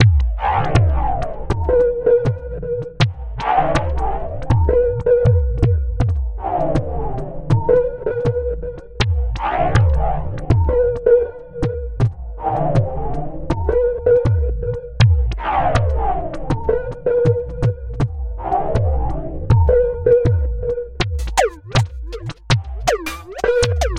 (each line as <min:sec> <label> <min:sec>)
0:21.0 drumloop 0:23.9